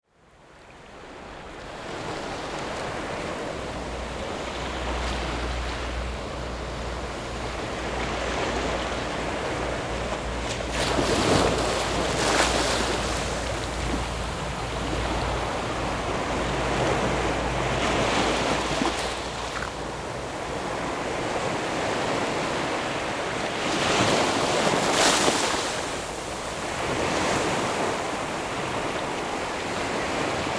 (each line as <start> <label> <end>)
0.3 waves 30.5